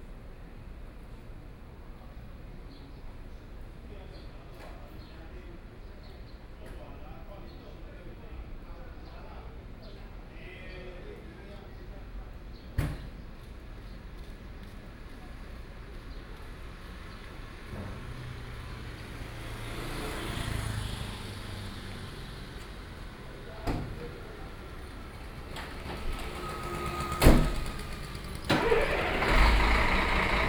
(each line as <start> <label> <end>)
15.8 Traffic Sound 30.4
22.6 Truck unloading 30.4